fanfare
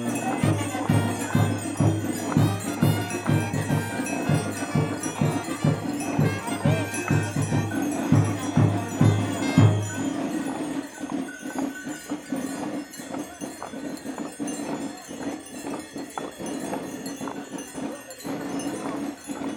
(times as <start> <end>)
0.0 10.9